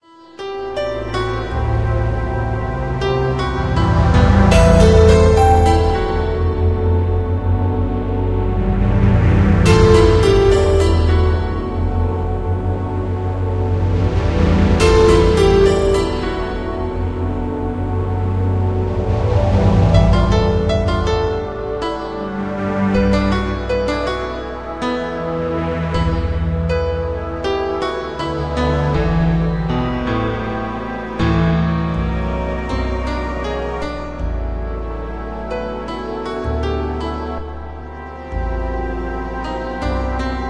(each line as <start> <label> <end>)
0.0 piano 40.4
0.4 synth 40.4